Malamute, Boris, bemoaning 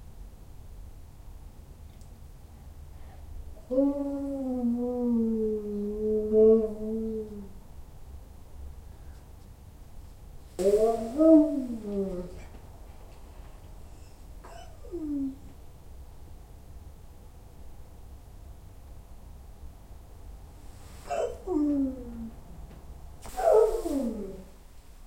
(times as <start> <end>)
10.6 12.4, 23.3 24.5